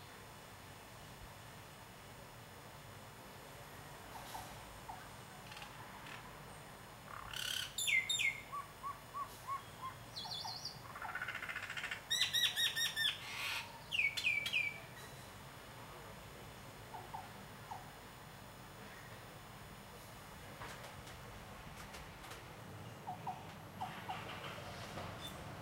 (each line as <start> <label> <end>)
7.1 birds 15.3